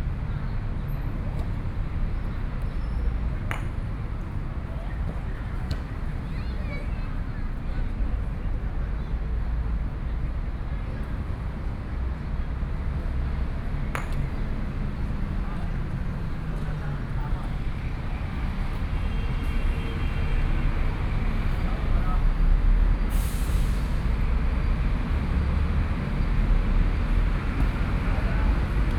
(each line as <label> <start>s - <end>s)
playing croquet 3.4s - 4.3s
playing croquet 13.6s - 18.9s